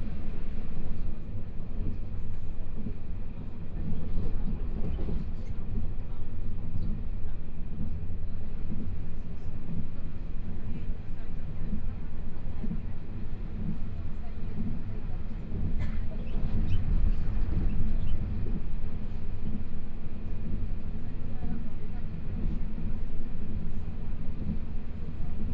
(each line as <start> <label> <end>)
0.0 Interior of the train 25.5